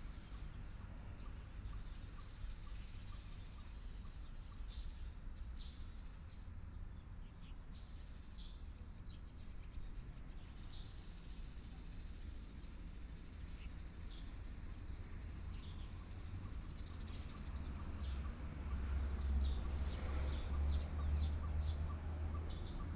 Birds 0.1 - 22.9
Traffic Sound 12.1 - 22.9

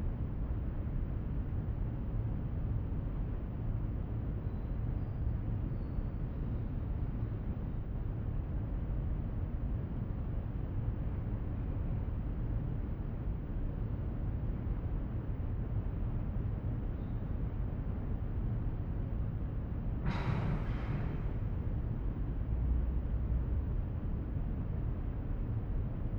outside ambience reflecting in the circular room architecture 0.2 - 26.1

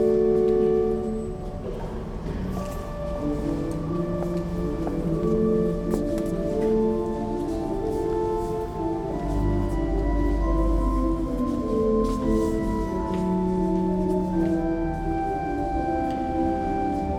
Organ 2.9 - 17.1

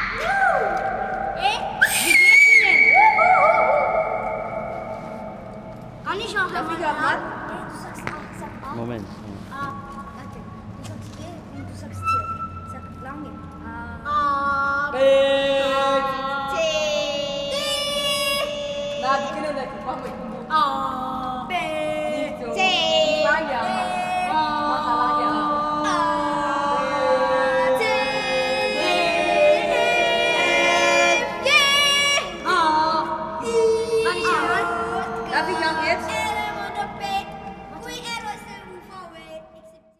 echoes of the concrete space 0.0 - 39.9
local kids 0.0 - 39.9

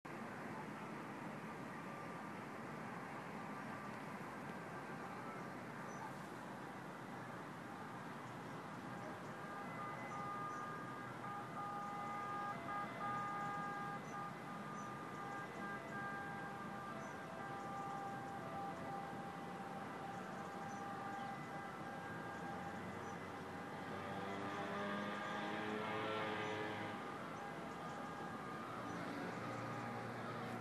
River 0.1 - 30.6

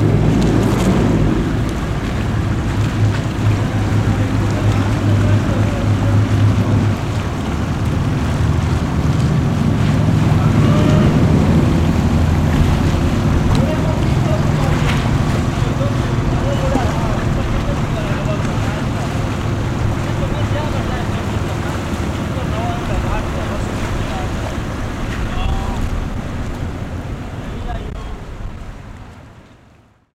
Workers 9.6 - 26.1

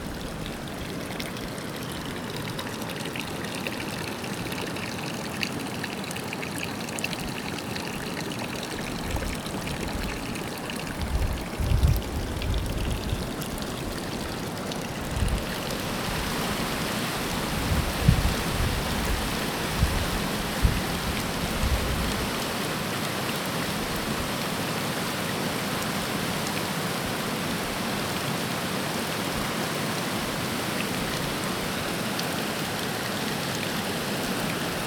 Water trickling into a trough 0.0 - 24.4
white noise of the waterfall 13.1 - 34.8

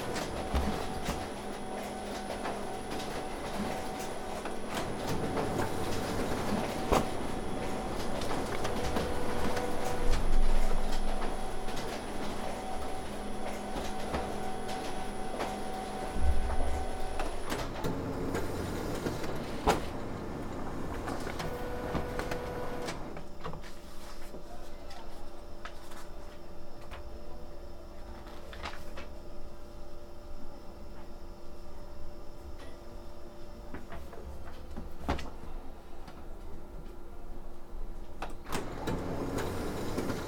techno rhythms of the photocopier 0.0 - 24.5
techno rhythms of the photocopier 25.1 - 40.2

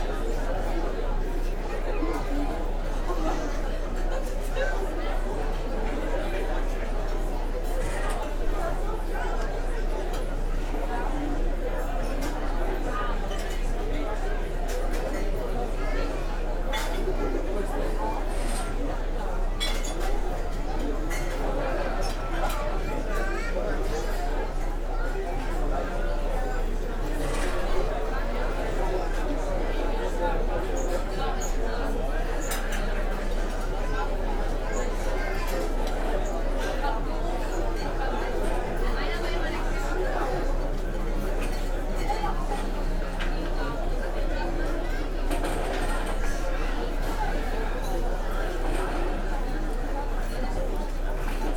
murmur of people outside 0.0 - 51.5

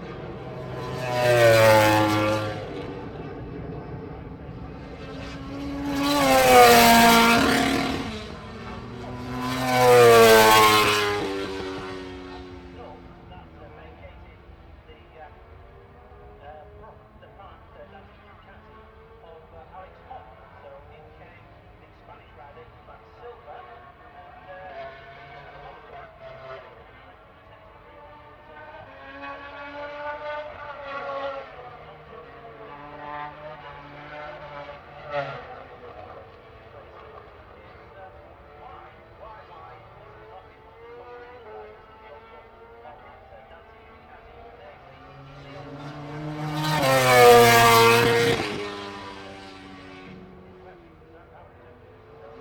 commentary 0.0 - 52.4
motogp free practice 2 32.0 - 52.3

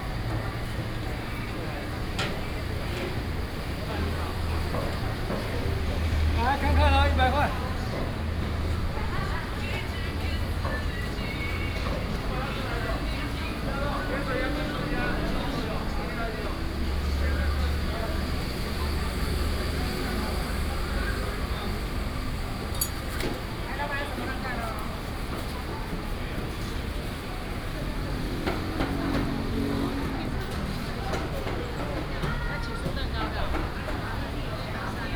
Traffic sound 0.0 - 35.1

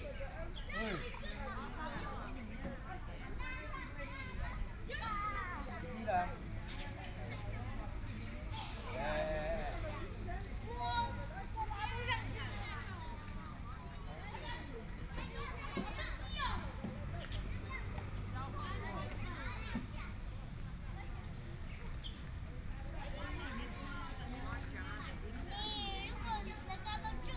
Children and the elderly 0.0 - 27.3
Birdsong 11.7 - 27.3

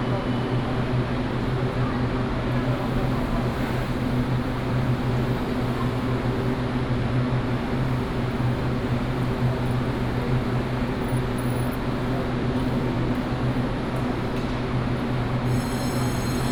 Walk at the station 0.0 - 16.5
The train runs through 11.8 - 16.5

